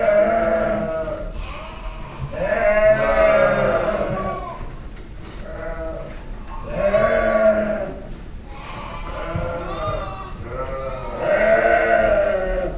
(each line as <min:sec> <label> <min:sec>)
0:00.0 habitual sheep yellings 0:04.7
0:05.5 habitual sheep yellings 0:12.7